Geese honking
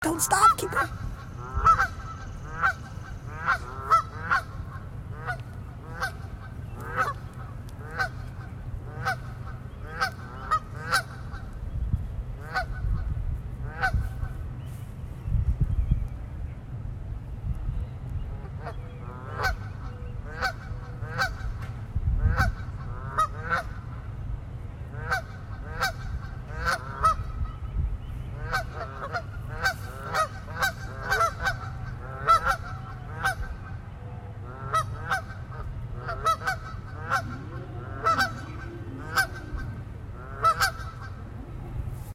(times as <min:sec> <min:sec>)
0:00.3 0:11.5, 0:20.3 0:21.6, 0:22.3 0:23.8, 0:25.0 0:27.3, 0:28.4 0:33.8, 0:34.4 0:41.7